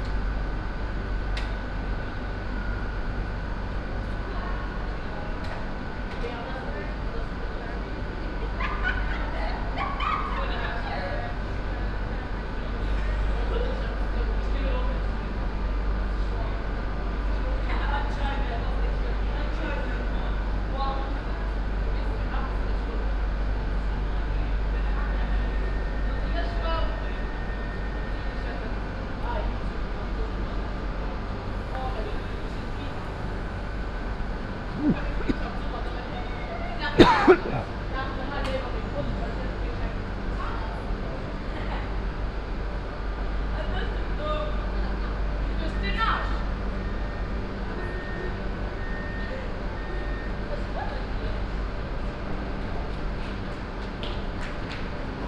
0.0s train standing at the platform - engine running 55.2s
9.2s passengers entering the train 55.2s
36.9s youth group at the platform joking around 37.8s

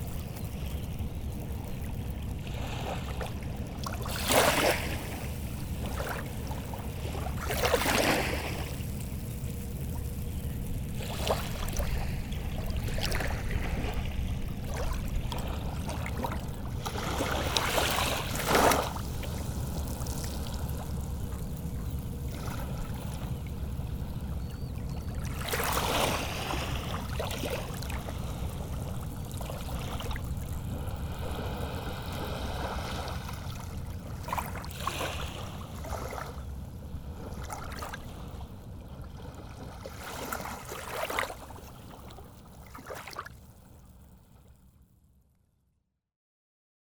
0.0s sea 45.6s

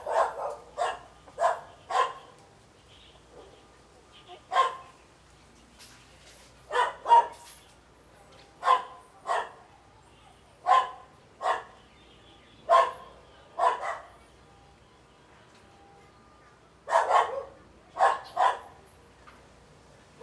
0.0s Dogs barking 2.4s
4.4s Dogs barking 5.0s
6.7s Dogs barking 7.4s
8.6s Dogs barking 9.6s
10.7s Dogs barking 11.8s
12.7s Dogs barking 14.2s
16.9s Dogs barking 18.8s

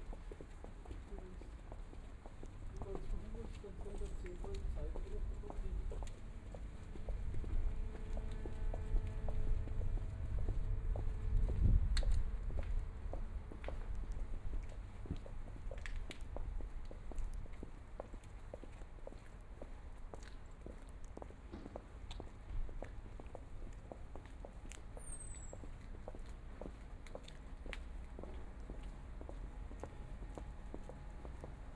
0.1s Traffic Sound 16.8s
2.3s Footsteps 16.3s
24.5s Traffic Sound 31.7s

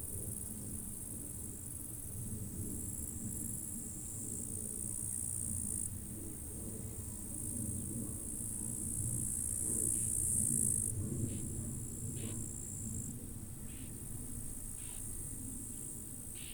0.0s wind 16.5s
0.0s crickets 16.5s
0.2s plane 16.5s
15.8s Grass 16.5s

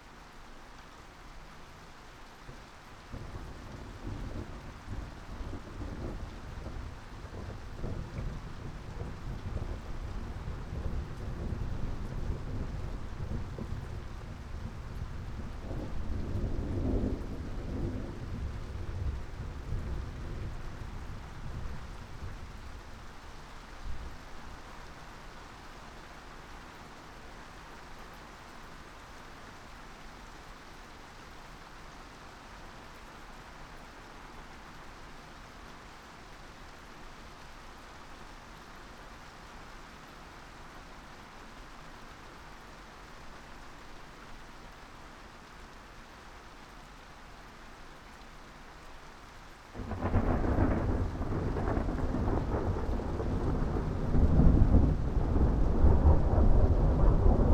3.0s thunderstorm 23.2s
49.8s thunderstorm 57.5s

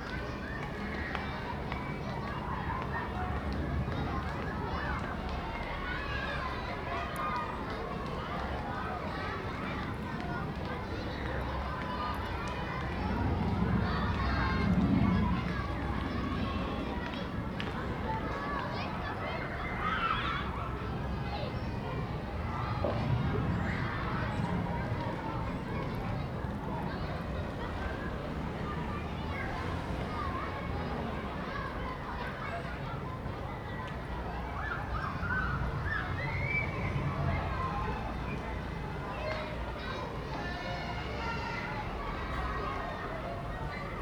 0.0s children playing in a nearby school 44.0s
12.9s drone of an aeroplane 17.5s
21.9s cars 40.5s

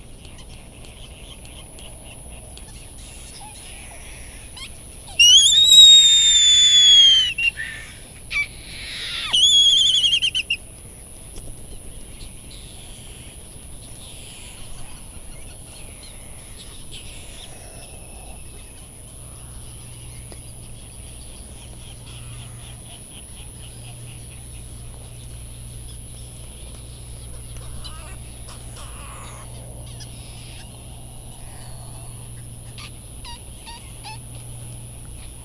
0.0s background noise from generators 35.4s
0.0s laysan calls and bill clapperings 35.4s
0.2s bonin calls and flight calls 10.6s
0.2s white tern calls 10.6s
27.2s bonin calls and flight calls 35.4s
27.2s white tern calls 30.8s
32.7s white tern calls 34.7s

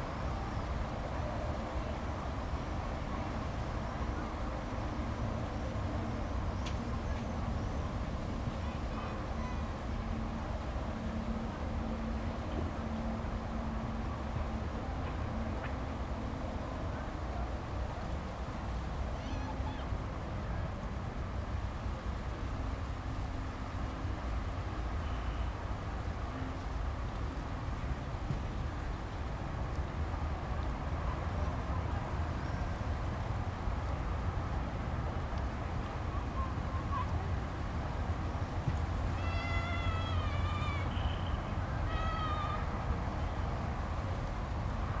0.0s city sounds in the distance 45.0s

